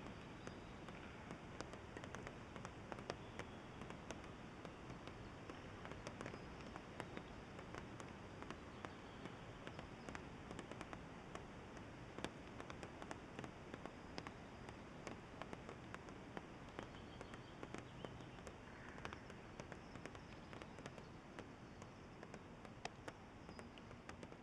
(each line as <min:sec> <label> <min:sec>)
0:00.0 water dripping onto a wooden structure 0:24.4